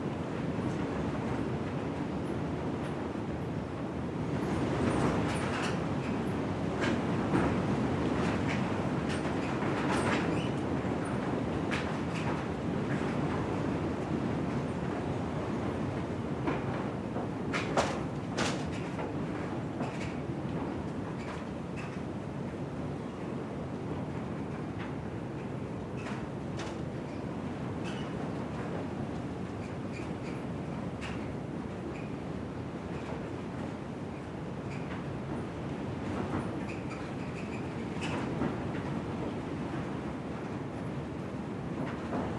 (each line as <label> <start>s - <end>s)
heavy windstorm 0.0s - 42.3s